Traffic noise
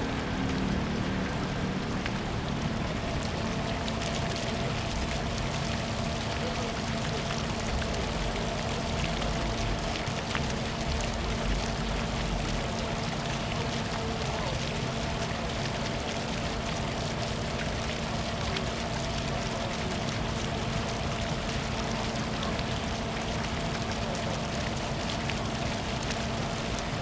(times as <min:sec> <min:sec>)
0:00.0 0:02.8